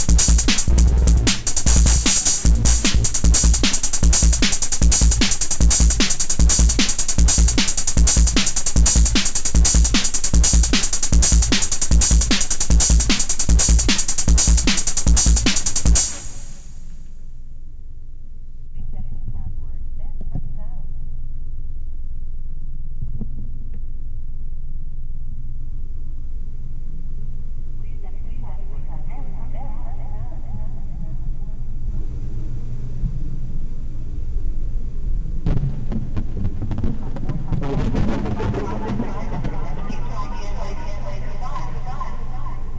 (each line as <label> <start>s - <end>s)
distorted tr606 beats 0.0s - 16.9s
bass 0.0s - 42.7s
distorted tr606 beats 31.6s - 42.7s